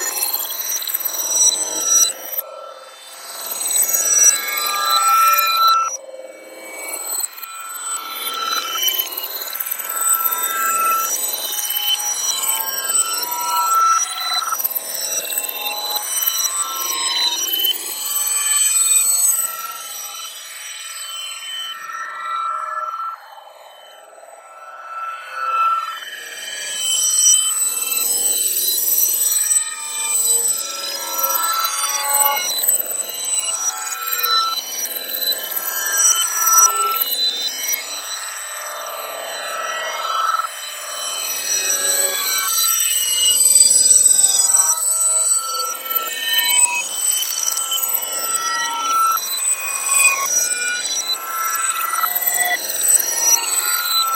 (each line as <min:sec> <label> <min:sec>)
0:06.6 screech 0:54.1